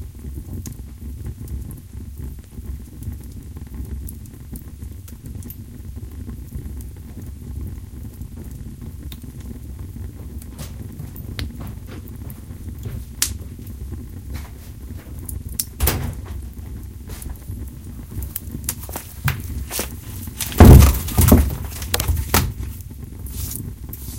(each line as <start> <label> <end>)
9.8 getting wood for fire 24.1
10.6 door 13.0
15.8 door 17.3
19.2 door 22.7